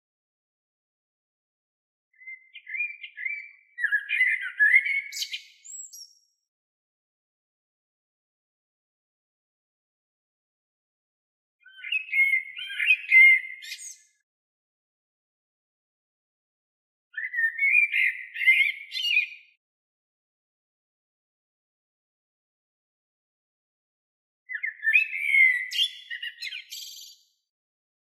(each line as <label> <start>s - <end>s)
blackbird 2.2s - 6.3s
blackbird 11.6s - 14.2s
blackbird 17.1s - 19.6s
blackbird 24.5s - 27.4s